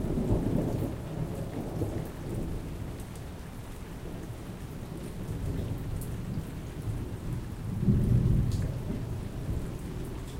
0.0s rain 10.3s
5.5s thunder 10.3s

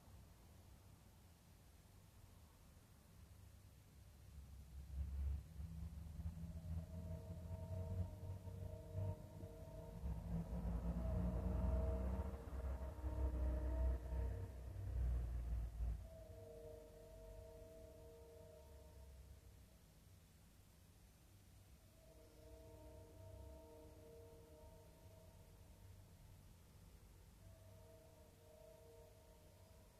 4.8s A car passes by 17.5s
5.0s Train in the distance 19.2s
6.7s Train horn in the distance 19.2s
22.0s Train horn in the distance 25.9s

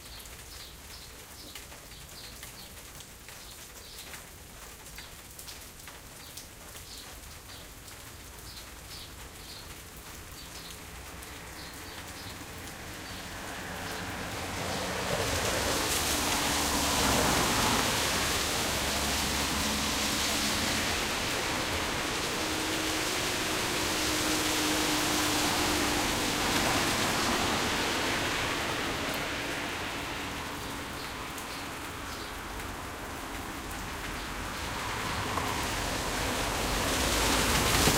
0.0s Rain 37.9s
9.2s Noise of cars and truck 37.9s

